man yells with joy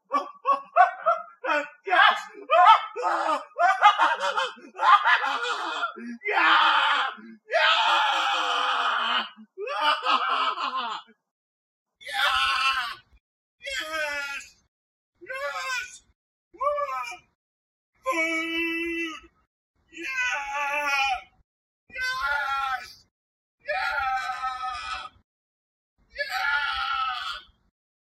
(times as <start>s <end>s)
0.8s 6.6s